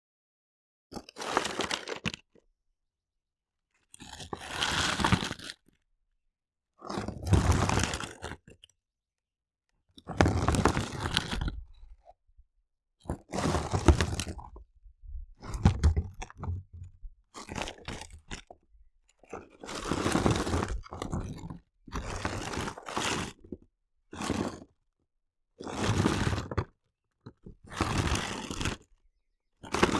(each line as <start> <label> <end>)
13.4 rock movements from a plant tray 14.6
15.4 rock movements from a plant tray 17.0